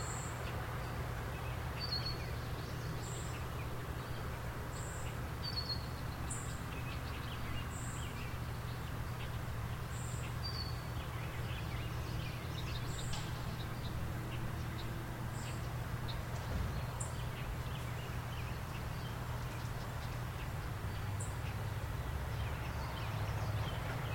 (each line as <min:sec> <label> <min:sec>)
0:00.0 Birds 0:24.1
0:00.0 distant car on the highway 0:24.1
0:00.0 trees rustling in the breeze 0:24.1